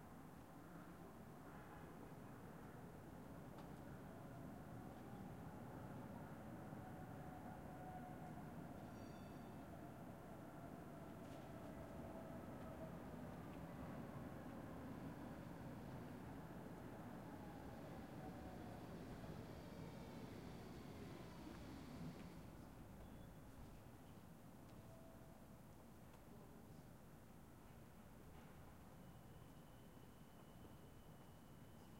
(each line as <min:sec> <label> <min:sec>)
0:00.0 bus 0:24.8
0:02.8 trams passing by 0:23.0